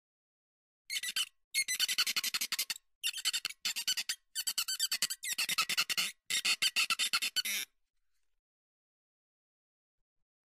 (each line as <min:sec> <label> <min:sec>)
0:00.9 Squeaky flamingo rubbed vigorously on a wet glass surface 0:07.7